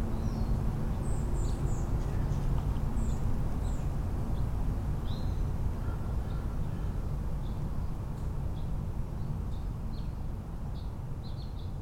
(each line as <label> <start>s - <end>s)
Hummingbirds 0.1s - 7.6s